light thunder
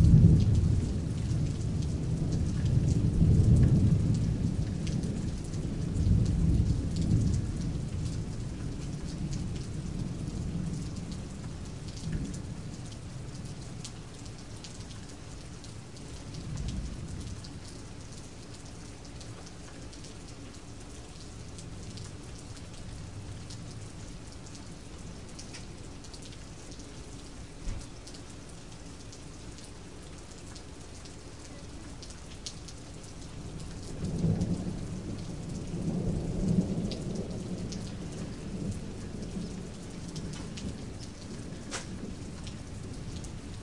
0:00.0 0:13.6, 0:16.1 0:17.7, 0:33.3 0:43.6

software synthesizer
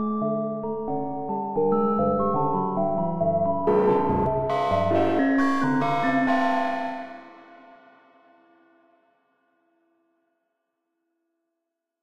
0:03.5 0:07.6

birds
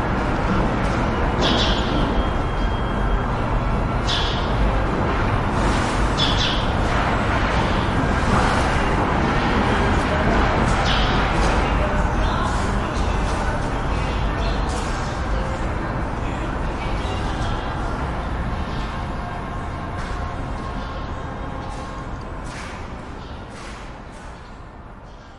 0:06.1 0:06.8

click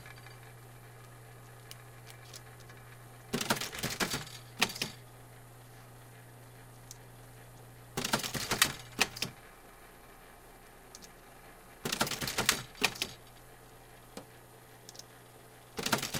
0:01.4 0:02.8, 0:10.9 0:11.2, 0:14.9 0:15.1

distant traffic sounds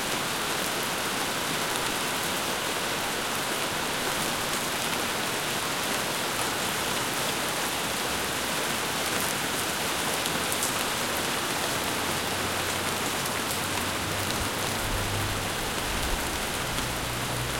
0:09.7 0:17.5

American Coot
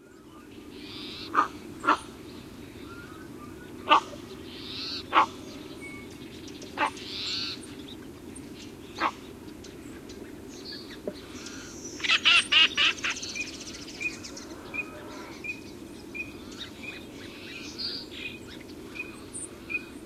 0:00.7 0:02.2, 0:02.8 0:05.6, 0:06.8 0:07.6, 0:09.0 0:09.3

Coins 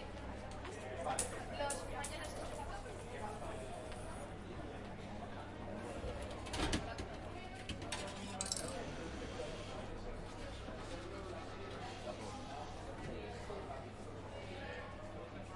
0:08.2 0:08.8

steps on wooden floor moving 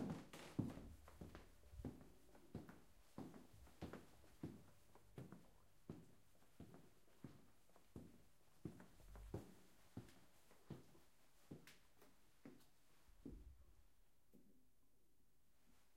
0:00.0 0:07.4

